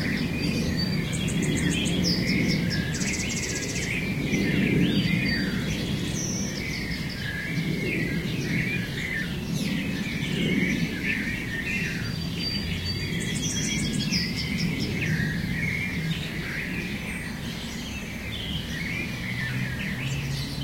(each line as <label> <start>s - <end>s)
birds 0.0s - 20.6s